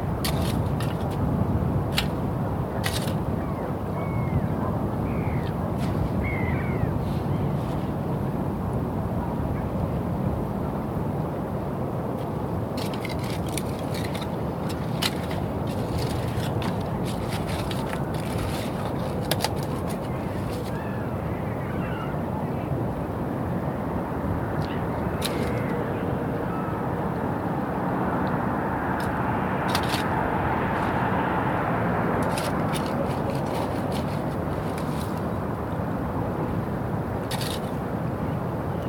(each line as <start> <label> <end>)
0.1 Digging for bivalves 1.2
1.9 Digging for bivalves 3.3
5.4 Digging for bivalves 6.2
12.2 Digging for bivalves 20.8
25.2 Digging for bivalves 25.7
28.9 Digging for bivalves 31.4
32.0 Digging for bivalves 35.4
37.2 Digging for bivalves 37.8